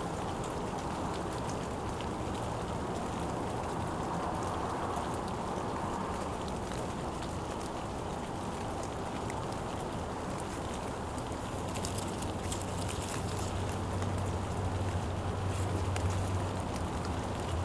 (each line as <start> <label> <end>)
0.0 moderate rain 17.6